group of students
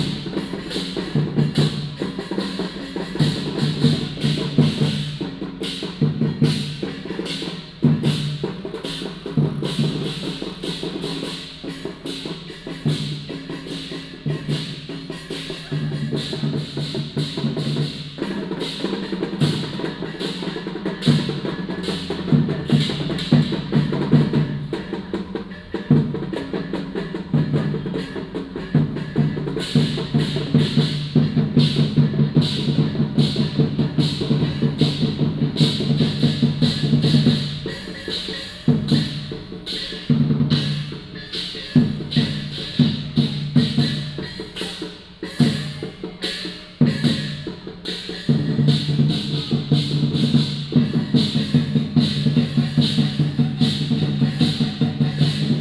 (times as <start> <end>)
18.3 49.5